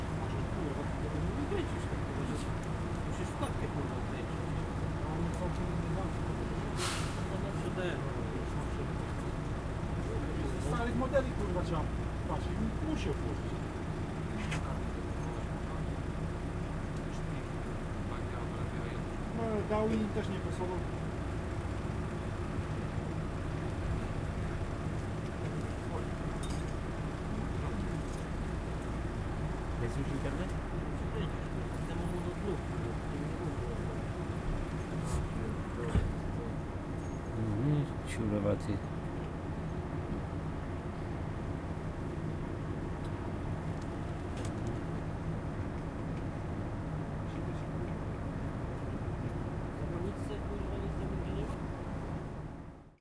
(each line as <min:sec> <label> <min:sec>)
0:00.0 whirring trucks 0:53.0
0:00.1 talks between truck drivers 0:16.2
0:16.9 talks between truck drivers 0:22.9
0:29.2 talks between truck drivers 0:36.7
0:37.3 talks between truck drivers 0:38.9